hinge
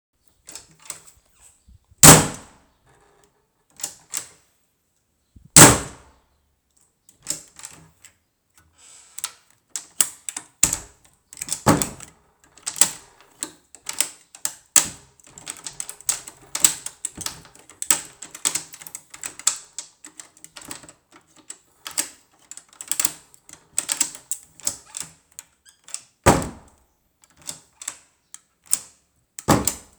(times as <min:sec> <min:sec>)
0:02.0 0:02.5, 0:05.6 0:06.0